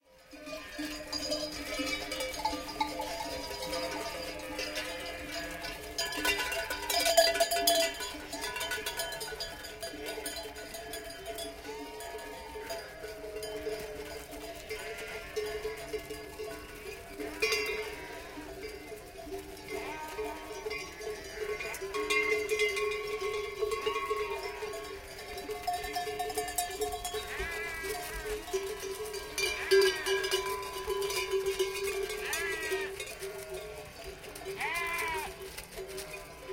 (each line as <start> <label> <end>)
0.1 flock of sheep moving from right to left 36.5